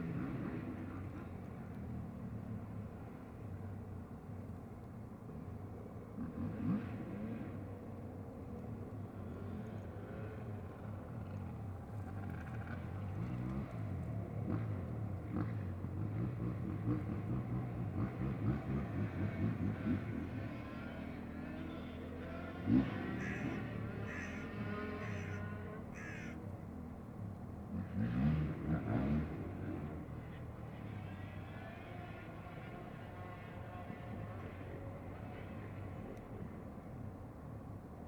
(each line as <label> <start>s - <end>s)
scrambling motorcycles 12.1s - 26.4s
scrambling motorcycles 27.7s - 36.5s